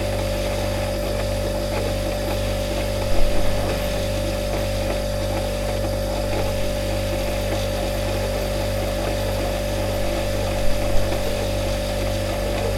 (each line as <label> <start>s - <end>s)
coffee machine 0.0s - 12.7s
fridge compressor 0.0s - 12.7s